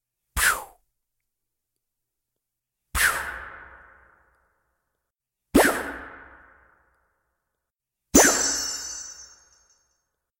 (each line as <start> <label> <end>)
8.2 chimes 10.0